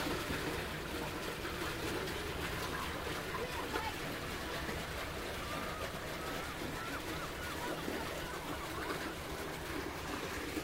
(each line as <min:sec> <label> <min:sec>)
0:00.0 water-gate into harbour 0:10.6